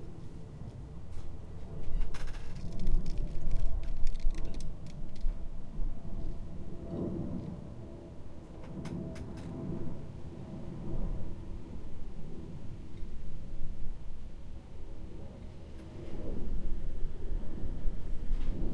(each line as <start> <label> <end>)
0.0 very dry leaves dancing in the breeze 7.8
1.9 parasol creaks 5.3